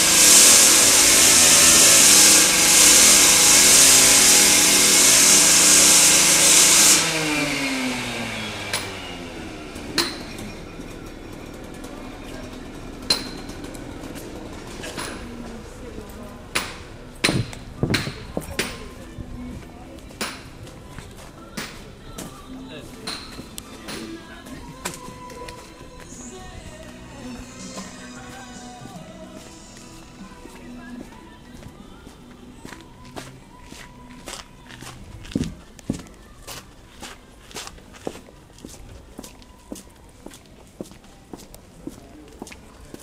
construction site 0:00.0 - 0:43.0
trams 0:00.0 - 0:43.0
people 0:08.6 - 0:43.0
hammering 0:13.0 - 0:15.4
hammering 0:16.6 - 0:18.9
footsteps on the pavement 0:17.2 - 0:43.0

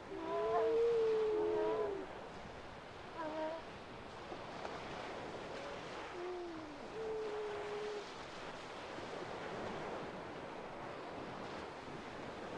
grey seals with their young 0:00.0 - 0:02.2
Distant waves 0:00.0 - 0:12.5
grey seals with their young 0:03.1 - 0:03.7
grey seals with their young 0:04.9 - 0:08.2

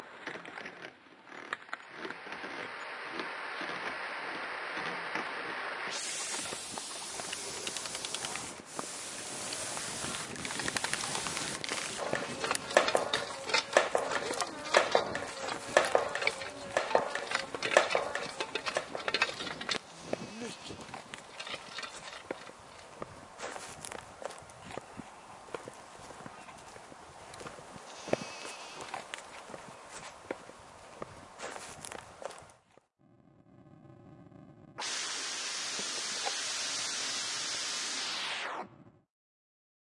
Wind 0:00.0 - 0:39.0
Goat 0:12.0 - 0:24.9

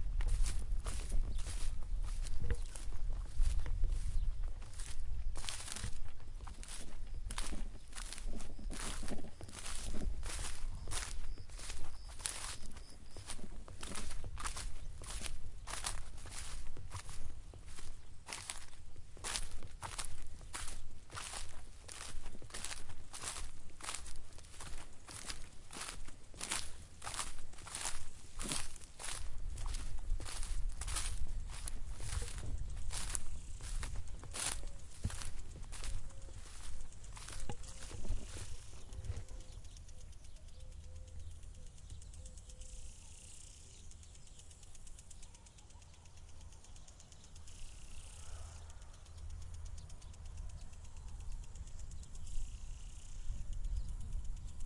footsteps 0:00.0 - 0:39.4
birds 0:00.2 - 0:54.6
sprinkler 0:00.2 - 0:54.6

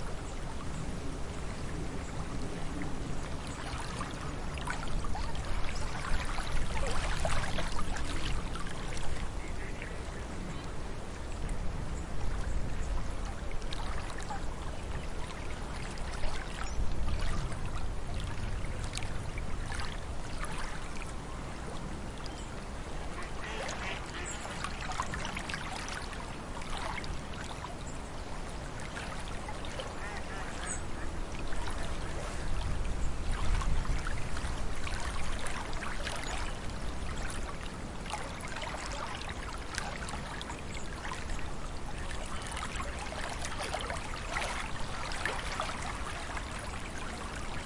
wind noise 0:00.0 - 0:26.5
water 0:00.0 - 0:47.6
geese get fairly noisy 0:23.1 - 0:25.0
wind noise 0:29.0 - 0:38.0

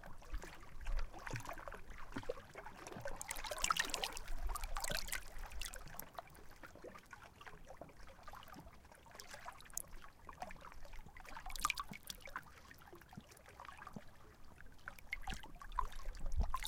Calm water light lapping onto rocks 0:00.0 - 0:16.6

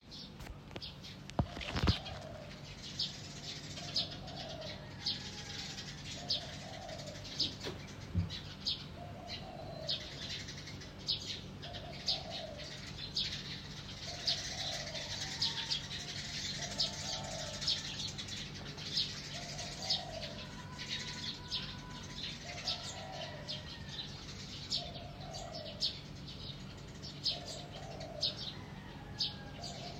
Birds Chirping 0:00.0 - 0:29.9

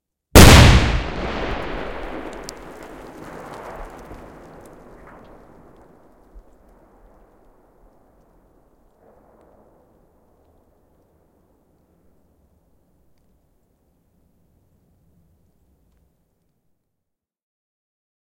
an echoing loud explosion 0:00.4 - 0:07.7

